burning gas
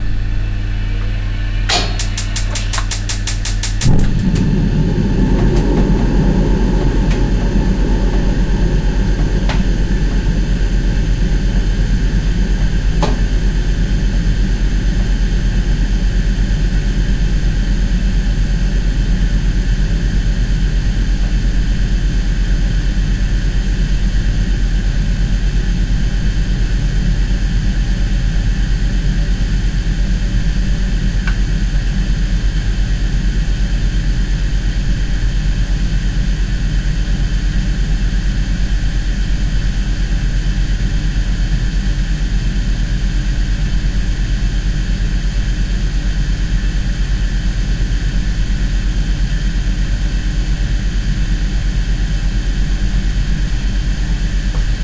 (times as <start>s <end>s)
1.6s 13.4s